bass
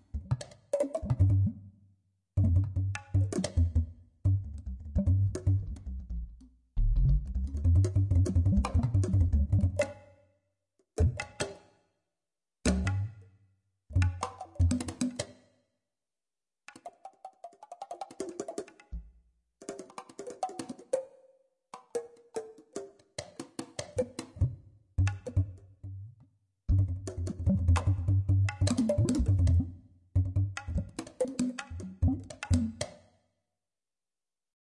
0:00.0 0:01.6, 0:02.4 0:09.9, 0:12.7 0:13.2, 0:13.9 0:14.2, 0:24.4 0:31.0, 0:31.6 0:32.8

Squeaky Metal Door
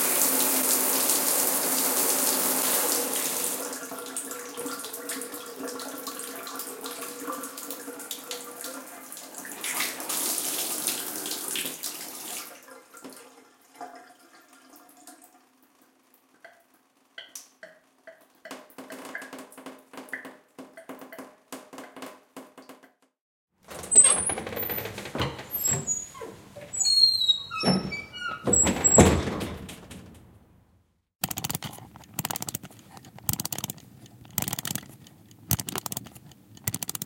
0:23.7 0:30.3

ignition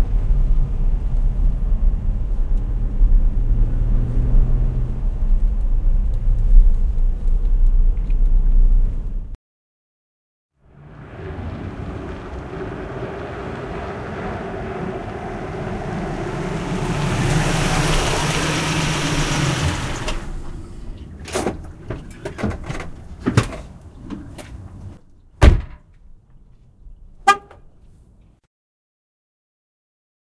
0:15.0 0:21.6

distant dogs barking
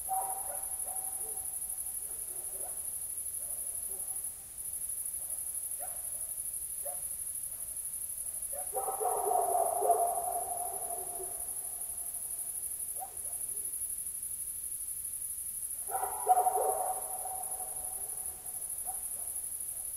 0:00.0 0:04.2, 0:08.5 0:11.8, 0:15.9 0:19.4

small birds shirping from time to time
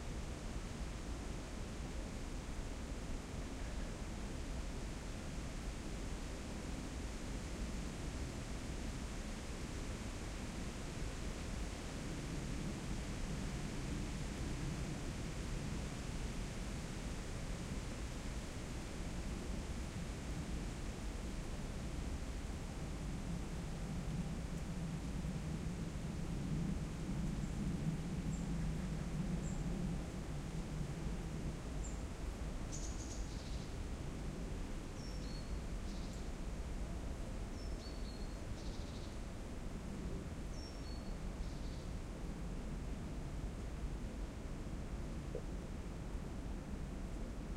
0:32.7 0:33.8, 0:34.9 0:36.4, 0:37.5 0:39.2, 0:40.5 0:42.0

